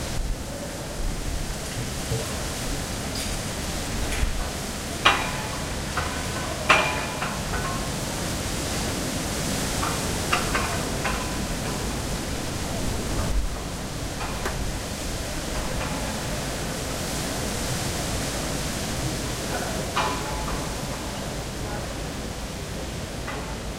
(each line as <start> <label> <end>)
0.0 wind in the trees 23.7
4.2 flags hitting their poles and producing metal sounds 8.1